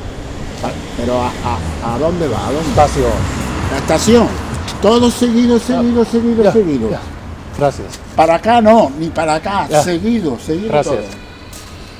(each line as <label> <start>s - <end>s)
walking around 0.5s - 11.9s